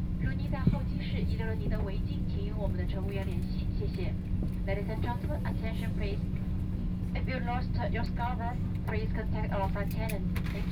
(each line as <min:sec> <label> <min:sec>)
0:00.2 Aircraft interior voice broadcast message 0:10.7